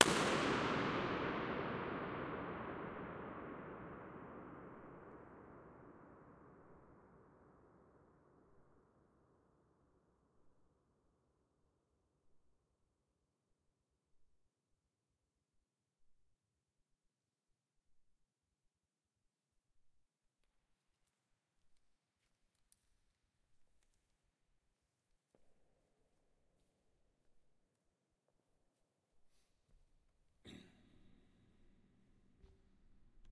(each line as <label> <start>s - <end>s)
Balloon burst 0.0s - 5.2s